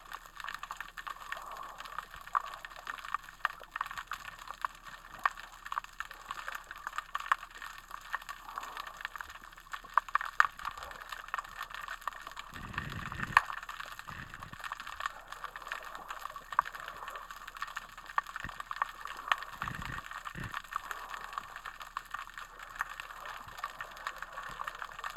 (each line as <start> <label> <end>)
0.0 tiny popping, crackling sounds 25.1